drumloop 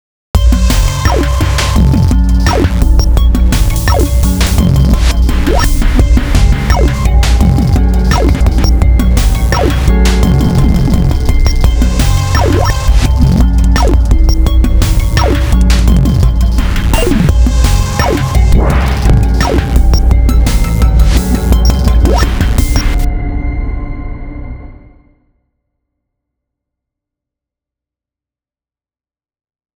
0.4s 23.1s

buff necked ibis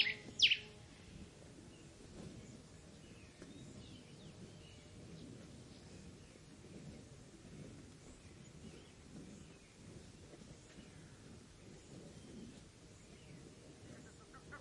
0.0s 0.7s, 13.8s 14.6s

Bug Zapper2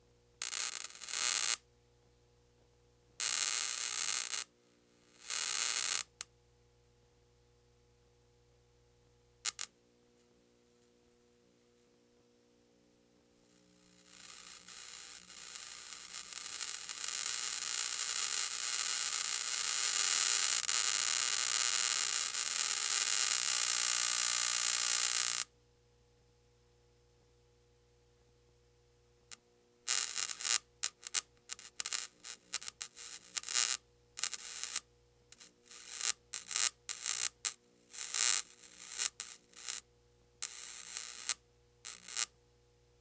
0.4s 1.6s, 5.2s 6.1s, 29.9s 34.8s, 38.0s 39.8s

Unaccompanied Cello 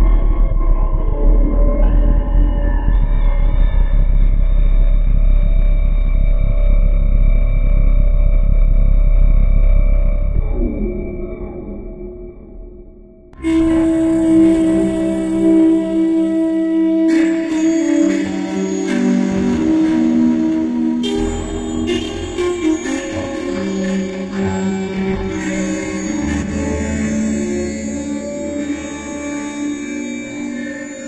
13.4s 31.0s

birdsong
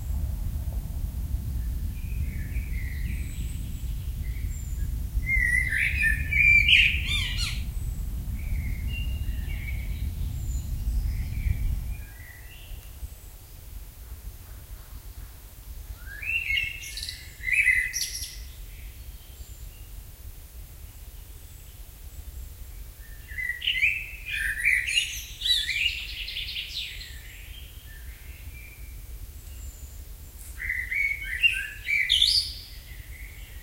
1.6s 13.4s, 20.9s 33.6s

